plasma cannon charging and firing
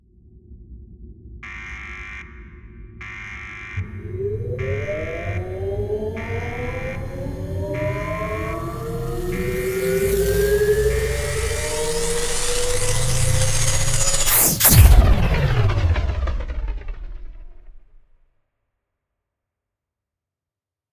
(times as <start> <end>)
3.8 18.0